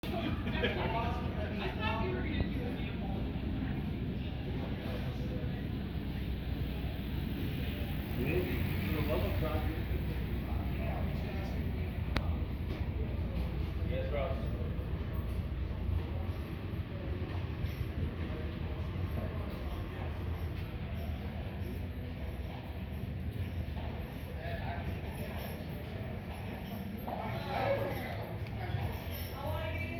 Street sounds 0:00.0 - 0:29.9
mule-drawn carriage passing 0:01.1 - 0:29.9

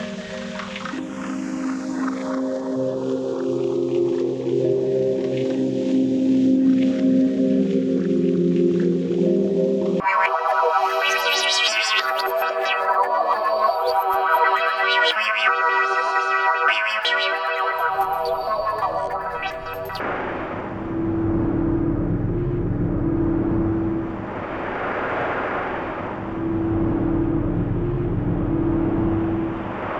Pads 0:10.0 - 0:29.9

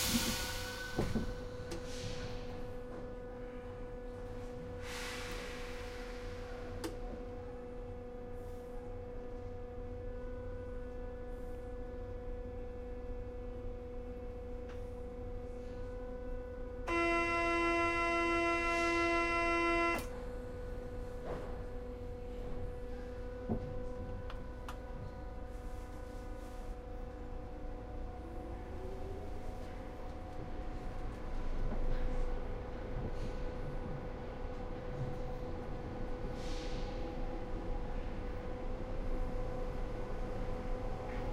trains 0:00.0 - 0:41.3
buzzer 0:16.9 - 0:20.1

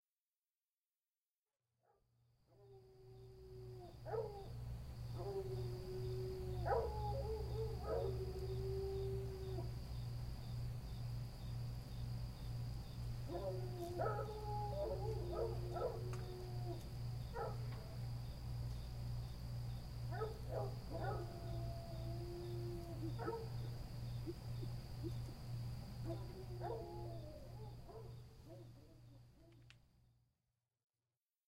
coon dogs in the distance 0:01.9 - 0:09.9
crickets up closer 0:02.5 - 0:30.2
coon dogs in the distance 0:13.1 - 0:19.0
coon dogs in the distance 0:19.6 - 0:29.8

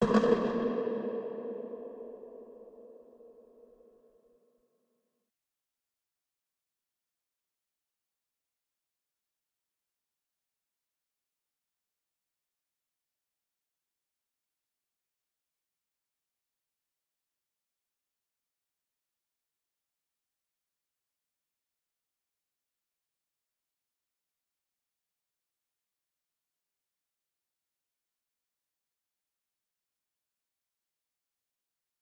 Hit made with a percussive sound 0:00.0 - 0:02.6

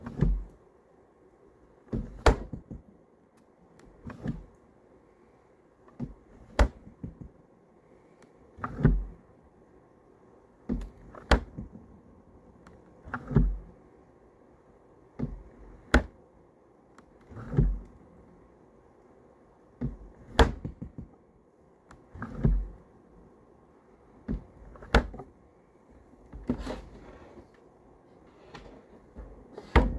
retro 1950's refrigerator opening and closing 0:00.0 - 0:00.6
retro 1950's refrigerator opening and closing 0:01.9 - 0:02.8
retro 1950's refrigerator opening and closing 0:03.8 - 0:04.6
retro 1950's refrigerator opening and closing 0:05.9 - 0:07.3
retro 1950's refrigerator opening and closing 0:08.5 - 0:09.2
retro 1950's refrigerator opening and closing 0:10.7 - 0:12.0
retro 1950's refrigerator opening and closing 0:12.6 - 0:13.8
retro 1950's refrigerator opening and closing 0:15.2 - 0:16.2
retro 1950's refrigerator opening and closing 0:17.2 - 0:18.0
retro 1950's refrigerator opening and closing 0:19.8 - 0:21.1
retro 1950's refrigerator opening and closing 0:21.9 - 0:22.9
retro 1950's refrigerator opening and closing 0:24.2 - 0:25.3
retro 1950's refrigerator opening and closing 0:26.0 - 0:29.9

